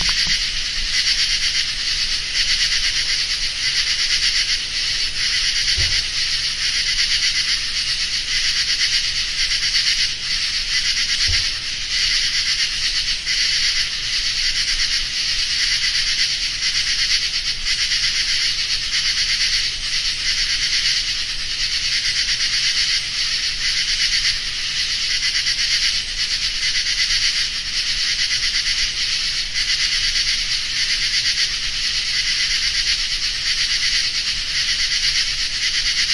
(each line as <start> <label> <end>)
0.0 insects 36.1